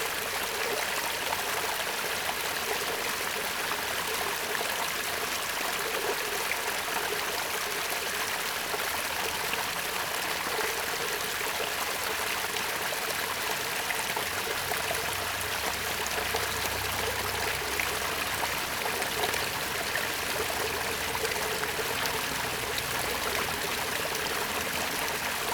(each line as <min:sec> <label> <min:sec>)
0:14.2 Water sound 0:25.5